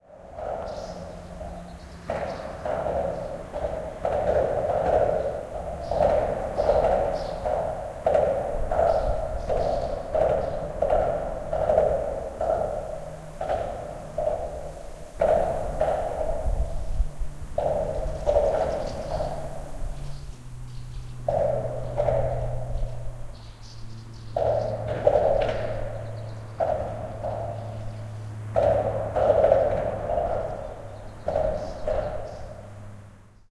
0.0s cars passing by, heard as bumping sounds 33.5s
0.1s trucks 33.5s

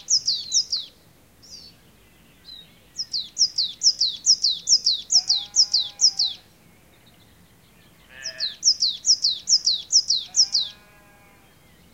10.3s sheep 11.5s

